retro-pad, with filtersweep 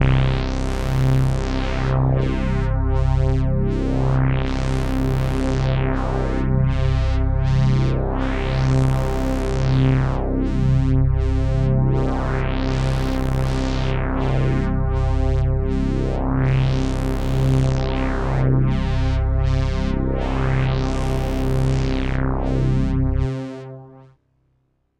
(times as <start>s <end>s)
15.8s 24.2s